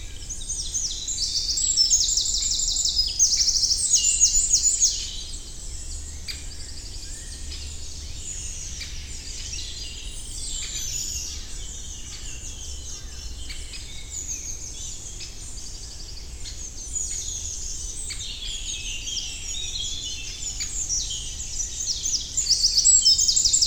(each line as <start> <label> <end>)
0.0 Common Chaffinch 23.6
7.4 juvenile Great Tit 23.6